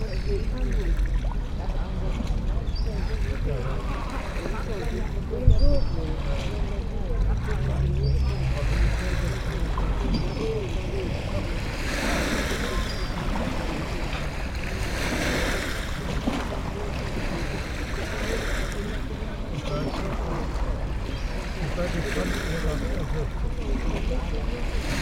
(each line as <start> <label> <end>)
0.0 old people small talks 25.0
0.0 waves 25.0